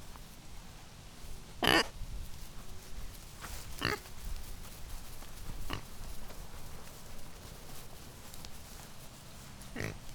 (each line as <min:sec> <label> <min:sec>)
0:01.6 pig, Hank, shuffling and scampering 0:10.1